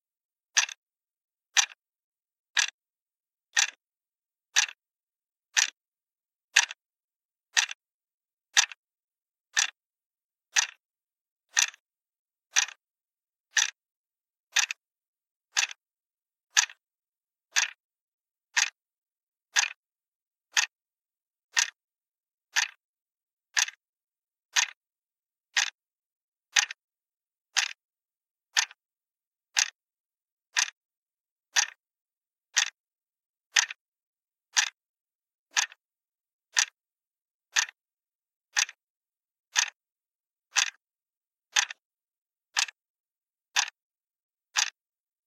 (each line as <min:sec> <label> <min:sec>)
0:00.5 plastic alarm clock clicking 0:00.8
0:01.5 plastic alarm clock clicking 0:01.8
0:02.5 plastic alarm clock clicking 0:02.8
0:03.5 plastic alarm clock clicking 0:03.8
0:04.5 plastic alarm clock clicking 0:04.8
0:05.5 plastic alarm clock clicking 0:05.8
0:06.5 plastic alarm clock clicking 0:06.8
0:07.5 plastic alarm clock clicking 0:07.8
0:08.5 plastic alarm clock clicking 0:08.8
0:09.5 plastic alarm clock clicking 0:09.8
0:10.5 plastic alarm clock clicking 0:10.8
0:11.5 plastic alarm clock clicking 0:11.8
0:12.5 plastic alarm clock clicking 0:12.8
0:13.5 plastic alarm clock clicking 0:13.8
0:14.5 plastic alarm clock clicking 0:14.8
0:15.5 plastic alarm clock clicking 0:15.8
0:16.5 plastic alarm clock clicking 0:16.8
0:17.5 plastic alarm clock clicking 0:17.8
0:18.5 plastic alarm clock clicking 0:18.8
0:19.5 plastic alarm clock clicking 0:19.8
0:20.5 plastic alarm clock clicking 0:20.8
0:21.5 plastic alarm clock clicking 0:21.8
0:22.5 plastic alarm clock clicking 0:22.8
0:23.5 plastic alarm clock clicking 0:23.8
0:24.5 plastic alarm clock clicking 0:24.8
0:25.5 plastic alarm clock clicking 0:25.8
0:26.5 plastic alarm clock clicking 0:26.8
0:27.5 plastic alarm clock clicking 0:27.8
0:28.5 plastic alarm clock clicking 0:28.8
0:29.5 plastic alarm clock clicking 0:29.8
0:30.5 plastic alarm clock clicking 0:30.8
0:31.5 plastic alarm clock clicking 0:31.8
0:32.5 plastic alarm clock clicking 0:32.8
0:33.5 plastic alarm clock clicking 0:33.8
0:34.5 plastic alarm clock clicking 0:34.8
0:35.5 plastic alarm clock clicking 0:35.8
0:36.5 plastic alarm clock clicking 0:36.8
0:37.5 plastic alarm clock clicking 0:37.8
0:38.5 plastic alarm clock clicking 0:38.8
0:39.5 plastic alarm clock clicking 0:39.8
0:40.5 plastic alarm clock clicking 0:40.8
0:41.5 plastic alarm clock clicking 0:41.8
0:42.5 plastic alarm clock clicking 0:42.8
0:43.5 plastic alarm clock clicking 0:43.8
0:44.5 plastic alarm clock clicking 0:44.8